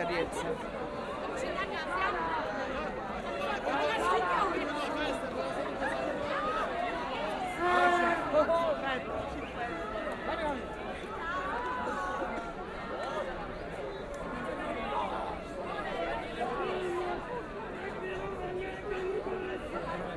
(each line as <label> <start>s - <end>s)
fans are meeting on the street 0.0s - 20.1s